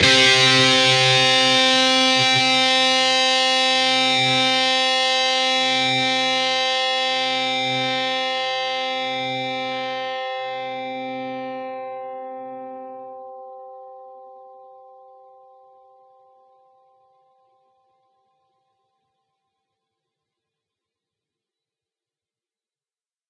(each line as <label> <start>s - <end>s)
distorted guitar 0.0s - 17.2s